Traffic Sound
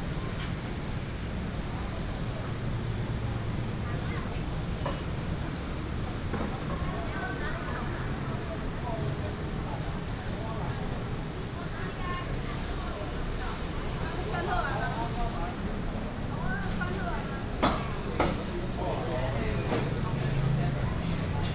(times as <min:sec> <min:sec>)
0:15.6 0:21.5